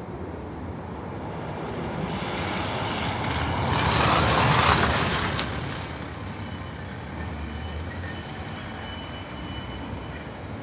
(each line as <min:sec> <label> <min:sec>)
0:00.0 cars passing close by 0:10.6
0:00.9 train enters the recording 0:10.6